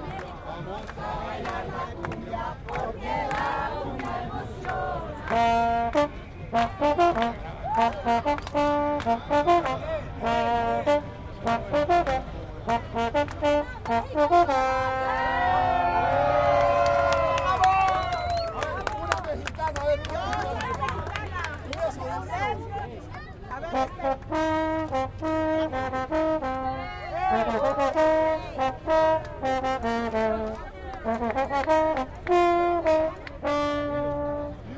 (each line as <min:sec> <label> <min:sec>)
0:00.0 people singing 0:05.7
0:00.9 Trombón 0:16.1
0:04.7 Trumpet 0:17.4
0:23.6 Trombón 0:34.7
0:23.6 Trumpet 0:34.7